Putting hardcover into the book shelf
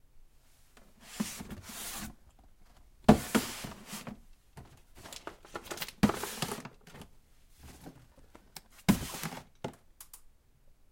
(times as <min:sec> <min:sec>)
0:01.0 0:02.2, 0:03.1 0:08.2, 0:08.8 0:09.8